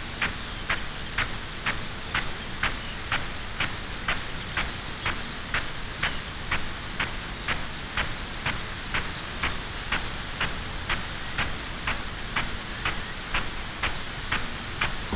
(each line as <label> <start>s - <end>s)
field irrigation system 0.0s - 15.1s